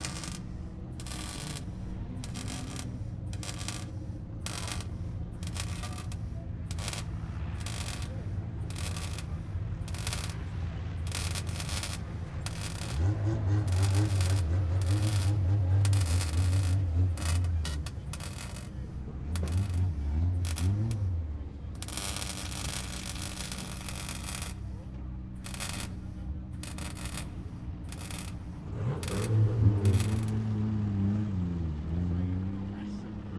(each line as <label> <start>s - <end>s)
Spot Welding 0.0s - 30.6s
Engines 0.0s - 33.3s